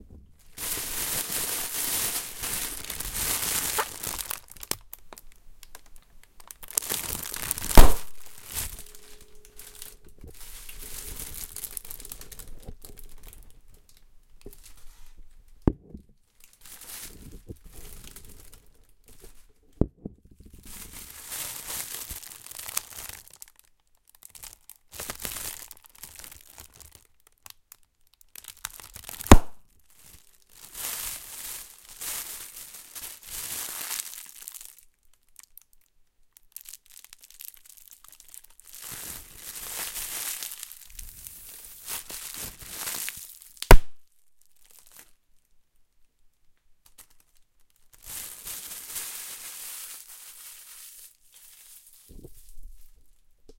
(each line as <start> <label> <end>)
0.0 crackling plastic rustling sounds 53.5
2.9 pops of large plastic bubble packing 8.7
15.6 pops of large plastic bubble packing 16.1
24.2 pops of large plastic bubble packing 29.6
43.6 pops of large plastic bubble packing 44.0